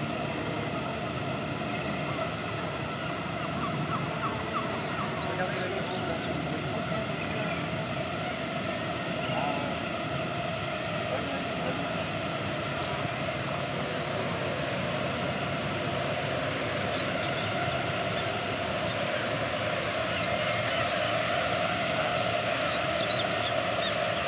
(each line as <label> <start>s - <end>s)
gnat cloud, carried away by the wind 0.0s - 24.2s